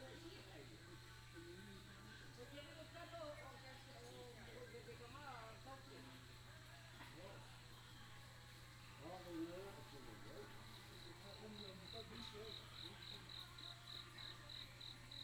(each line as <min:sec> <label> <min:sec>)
0:10.8 Insect noise 0:15.2